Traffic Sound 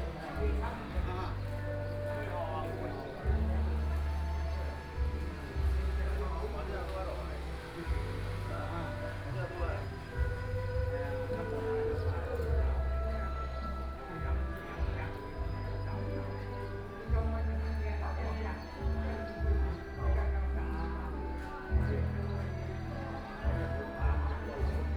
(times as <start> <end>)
0.0 18.2